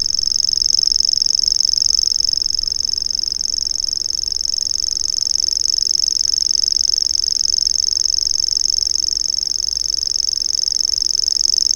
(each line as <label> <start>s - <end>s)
Grasshopper warbler 0.0s - 11.7s